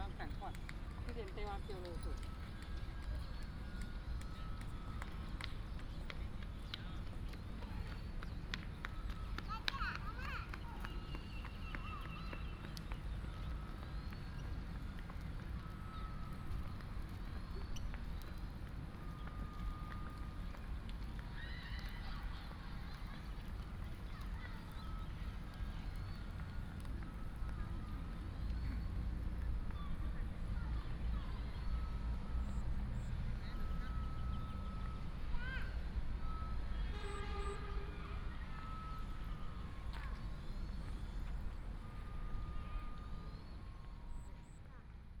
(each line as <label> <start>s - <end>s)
birds sound 0.0s - 14.8s
traffic sound 0.0s - 45.2s